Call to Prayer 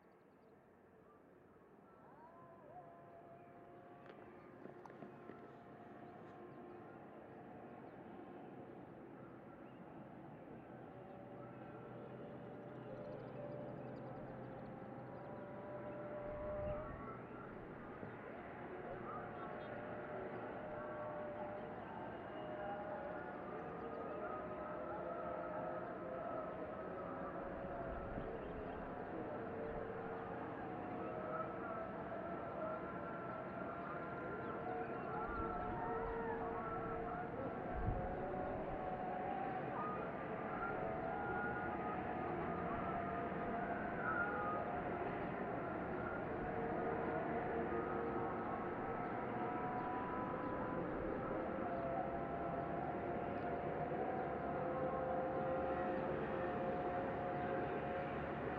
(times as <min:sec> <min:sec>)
0:13.0 0:58.5